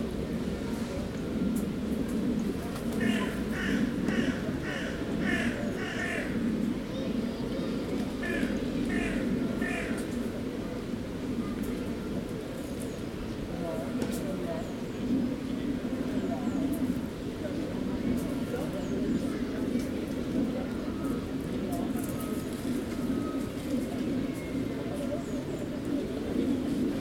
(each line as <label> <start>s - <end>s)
children playing in the sandbox 0.0s - 27.0s
plane in the background 0.0s - 27.0s
crows 3.0s - 6.4s
crows 8.2s - 10.1s